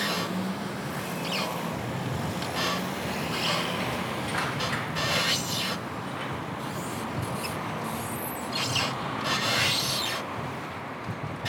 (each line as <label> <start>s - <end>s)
traffic 0.0s - 11.4s